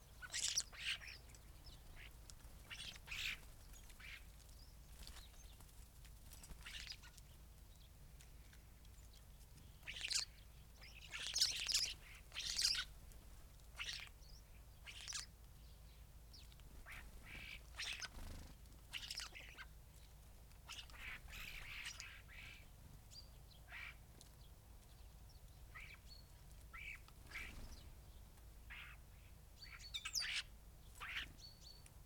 background noise 0:00.0 - 0:32.0
starlings on bird feeders 0:00.0 - 0:32.0
blackbird 0:00.0 - 0:13.0
greenfinch 0:00.1 - 0:05.7
greenfinch 0:06.3 - 0:07.4
greenfinch 0:09.6 - 0:13.0
greenfinch 0:13.7 - 0:24.0
blackbird 0:13.7 - 0:31.9
greenfinch 0:25.7 - 0:31.9

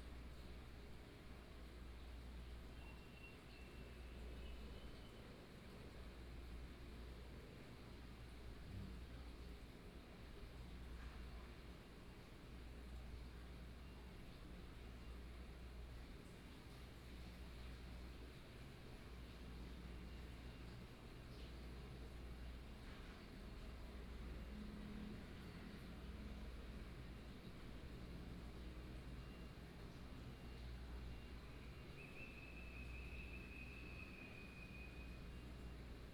Unknown birdsong 0:31.5 - 0:35.7

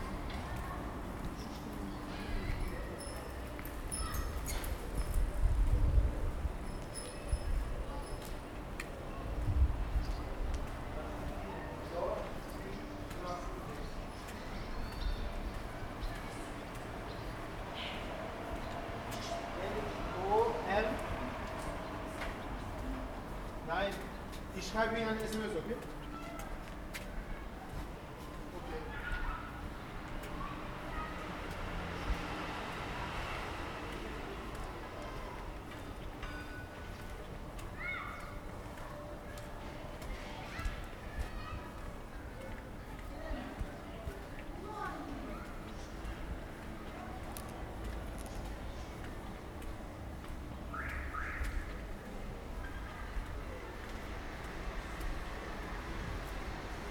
wind 0:00.0 - 0:56.9

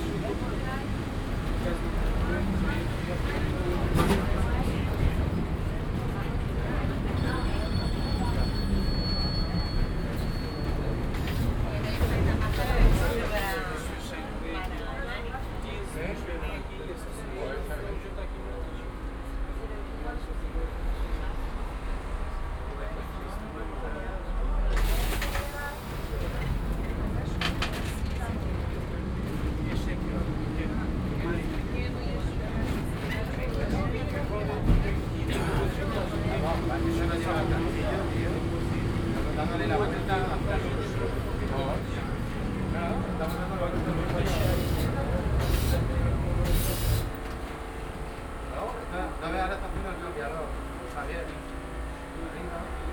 tram electrico nr.28 while driving through the city 0:00.0 - 0:52.9

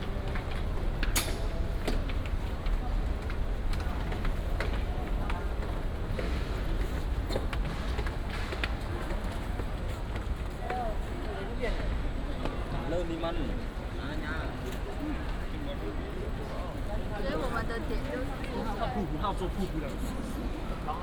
Train arrived at the station 0:00.0 - 0:21.0

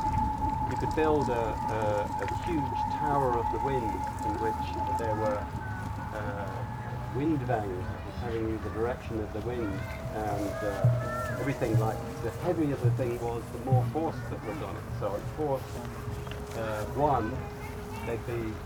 aeolian harps 0:00.0 - 0:18.6
talks about his aeolian harps installation 0:00.7 - 0:05.5
talks about his aeolian harps installation 0:06.1 - 0:15.8

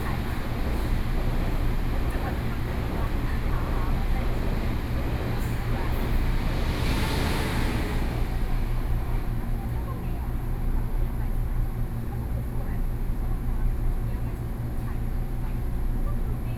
Train crossing 0:00.0 - 0:12.2

